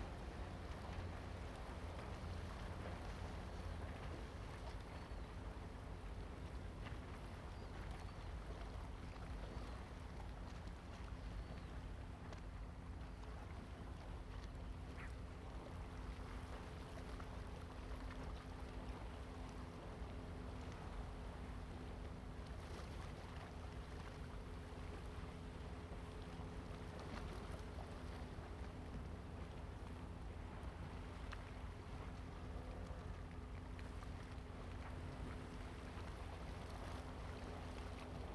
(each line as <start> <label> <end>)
0.0 Waves and tides 38.3